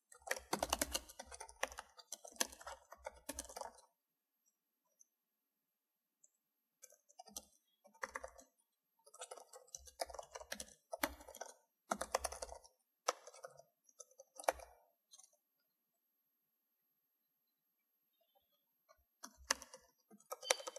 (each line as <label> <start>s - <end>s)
Typing on a keyboard 0.0s - 4.0s
Typing on a keyboard 6.2s - 15.4s
Typing on a keyboard 19.2s - 20.7s